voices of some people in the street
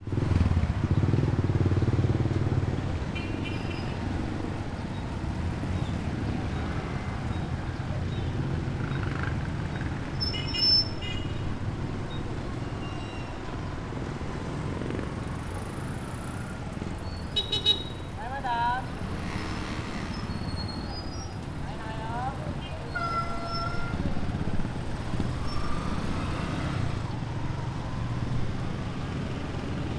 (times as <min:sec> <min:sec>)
0:16.6 0:25.3